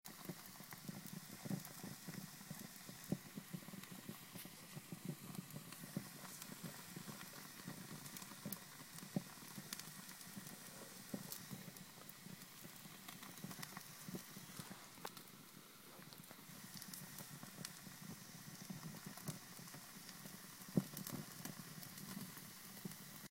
Small Fireplace 0:00.0 - 0:23.3

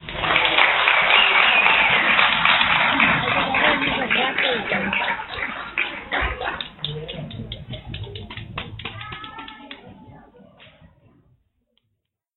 cheering 0:00.0 - 0:10.1
Audience is heard clapping 0:00.0 - 0:11.0
whistling 0:01.0 - 0:02.3

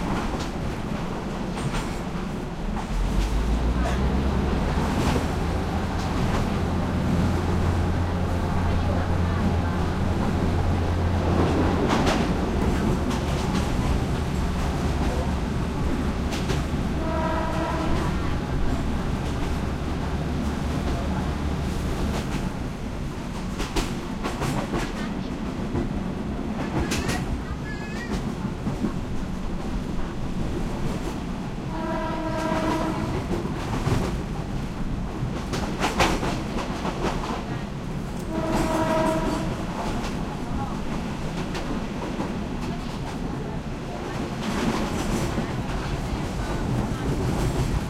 passenger commuter train 0:00.0 - 0:47.8
track movement 0:00.0 - 0:47.8
thai chatter walla 0:04.0 - 0:13.8

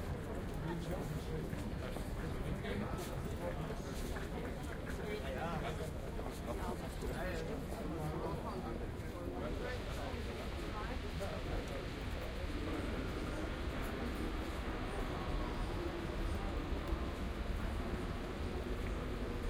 train 0:00.0 - 0:19.4

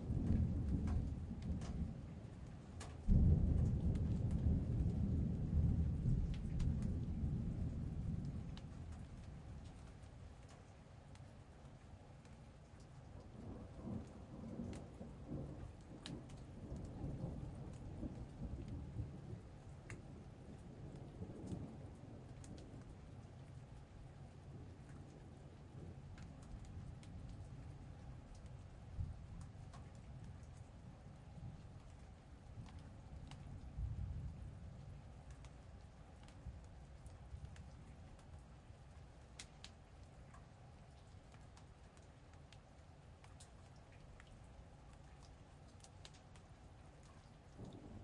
rain hitting the stairs 0:00.0 - 0:48.0
Big Thunder Claps 0:00.2 - 0:01.8
Big Thunder Claps 0:03.1 - 0:09.1

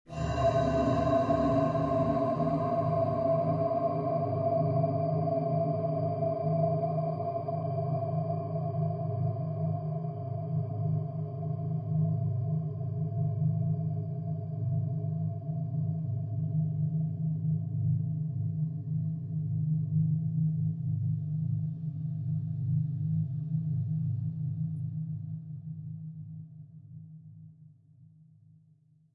drone 0:00.1 - 0:09.5

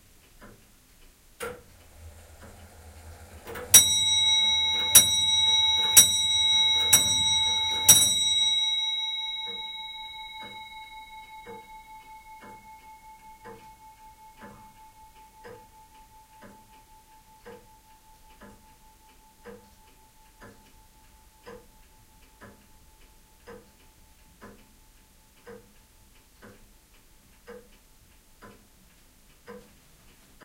Grand-father clock striking five 0:01.4 - 0:20.6

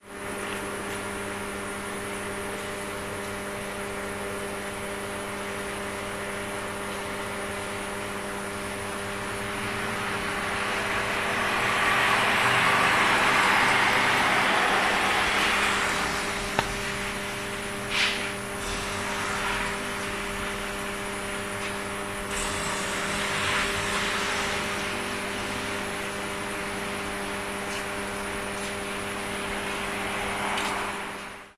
noise made by the transformer 0:00.0 - 0:31.5

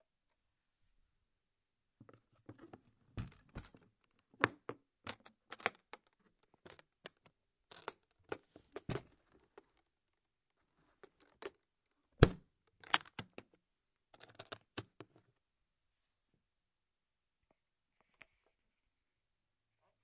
Opening and closing a briefcase 0:02.1 - 0:09.8
Opening and closing a briefcase 0:12.2 - 0:13.5
Opening and closing a briefcase 0:14.2 - 0:15.0

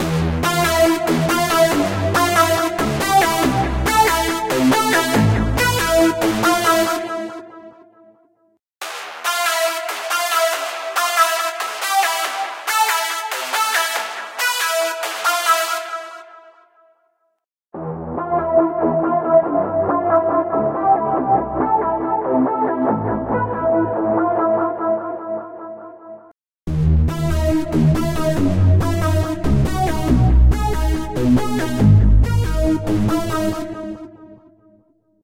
synthloop 0:00.0 - 0:07.8

